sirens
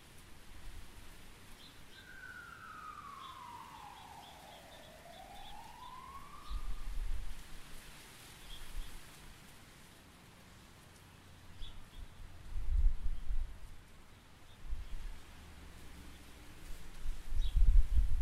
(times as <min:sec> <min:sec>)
0:01.9 0:07.5